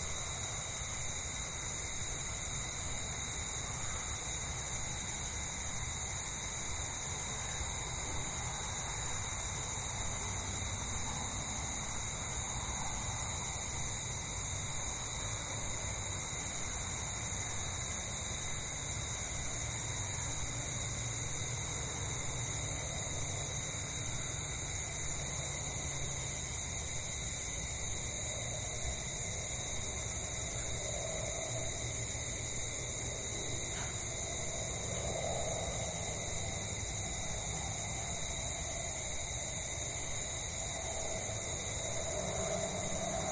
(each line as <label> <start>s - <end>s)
crickets 0.0s - 43.3s
planes 7.4s - 43.3s